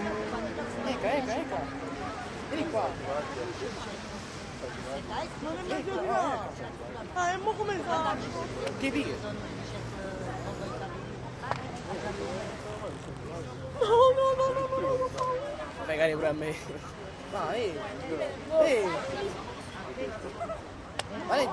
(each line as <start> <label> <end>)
0.0 small waves 10.2
0.0 traffic 21.5
11.2 small waves 21.5